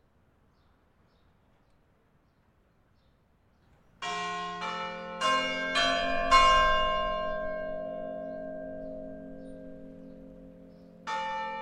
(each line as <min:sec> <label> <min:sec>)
0:03.9 angelus rings (church) 0:11.6